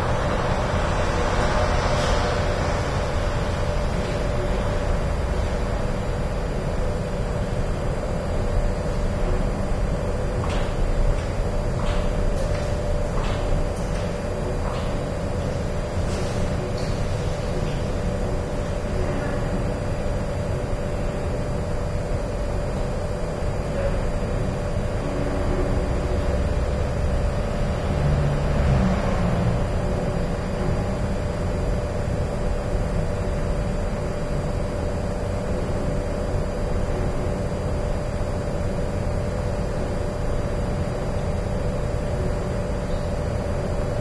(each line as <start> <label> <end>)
0.0 aircon 44.0
25.0 traffic 31.1